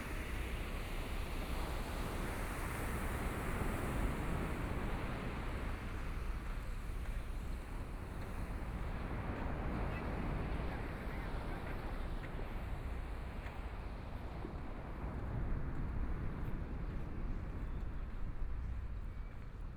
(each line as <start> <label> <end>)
0.0 waves 19.7
4.4 Walking on the beach 19.7